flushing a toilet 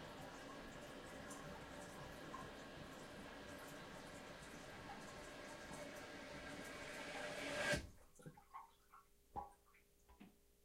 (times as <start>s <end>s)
0.0s 8.4s